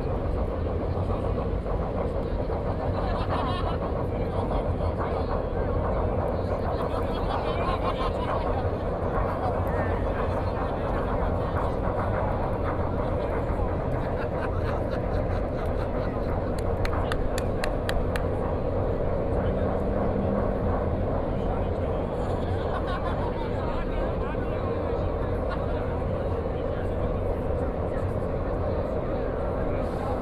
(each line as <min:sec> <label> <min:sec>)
0:00.0 crowd 0:30.2
0:03.0 Laughter 0:03.9
0:06.8 Laughter 0:08.8
0:13.8 Laughter 0:16.4
0:22.4 Laughter 0:23.8